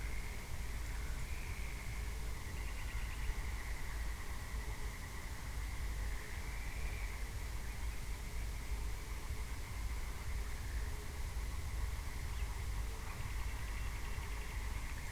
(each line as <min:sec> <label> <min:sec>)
0:00.0 music in the distance 0:15.1
0:00.1 frogs and/or toads 0:07.8